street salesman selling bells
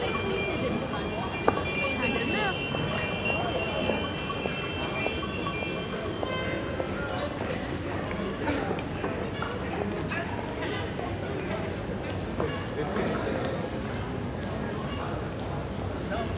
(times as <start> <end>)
0.0 8.4